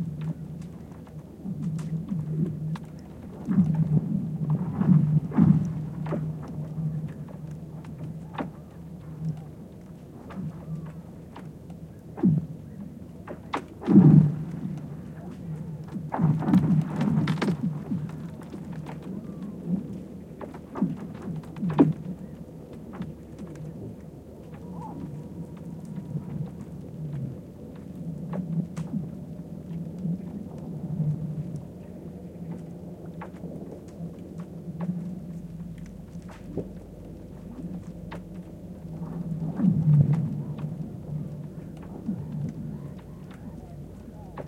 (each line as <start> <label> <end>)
13.3 Ice sounds in the spring when melting, howling, cracking, crashing 31.8